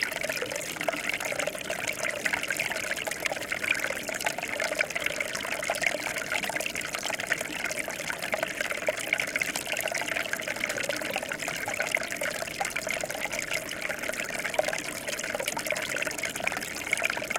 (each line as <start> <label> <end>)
0.0 trickle of water 17.3